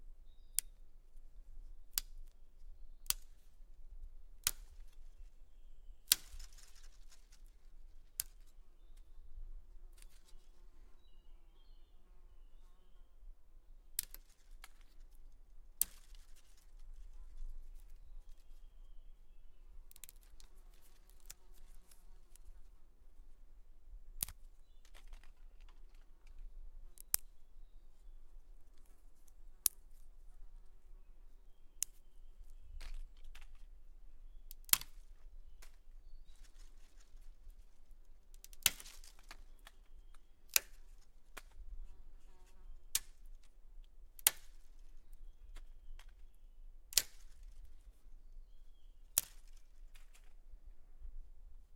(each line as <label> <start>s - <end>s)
Snapping small branches and sticks 0.5s - 0.8s
Snapping small branches and sticks 1.8s - 2.4s
Snapping small branches and sticks 3.0s - 9.1s
Snapping small branches and sticks 9.9s - 10.6s
Snapping small branches and sticks 13.9s - 18.7s
Snapping small branches and sticks 19.8s - 22.7s
Snapping small branches and sticks 24.1s - 30.1s
Snapping small branches and sticks 31.7s - 50.5s